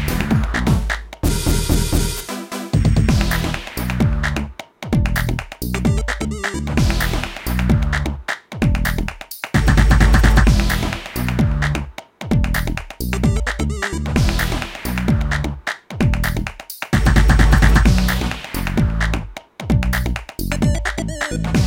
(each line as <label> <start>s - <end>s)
bass 0.0s - 21.6s
drums 0.0s - 21.6s
synthesizer 0.0s - 21.6s